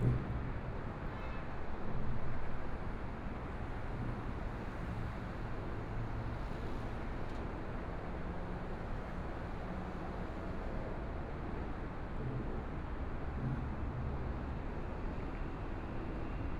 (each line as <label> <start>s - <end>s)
MRT train noise 0.0s - 16.5s